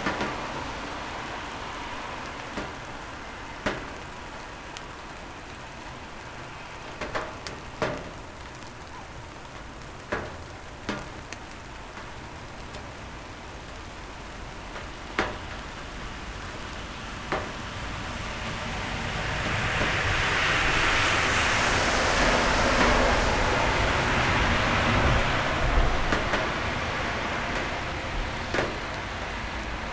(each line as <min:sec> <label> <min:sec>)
0:00.0 Calm summer rain 0:29.9
0:16.6 Cars driving by 0:29.9